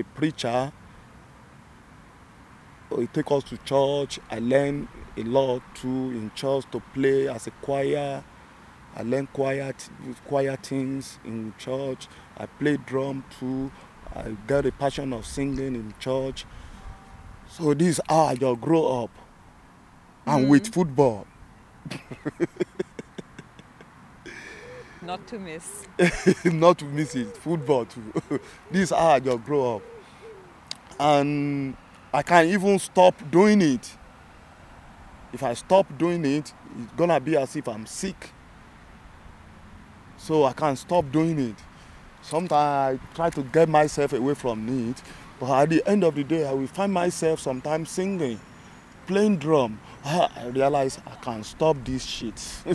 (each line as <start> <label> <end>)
20.3 talking 21.2
21.9 talking 30.0
42.7 talking 48.4